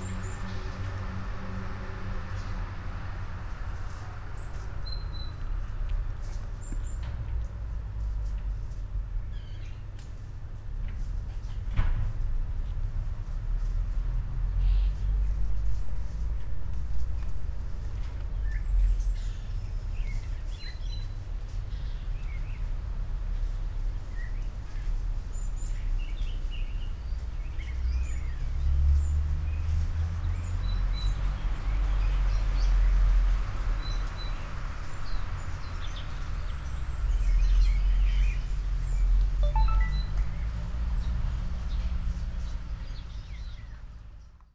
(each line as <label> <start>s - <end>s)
trees 12.6s - 44.5s